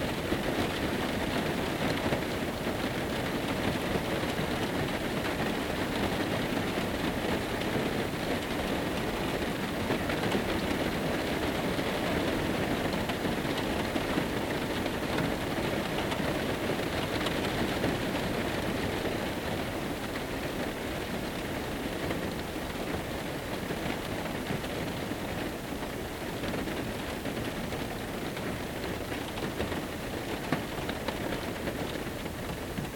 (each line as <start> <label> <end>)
0.0 Rain at night inside a van 32.9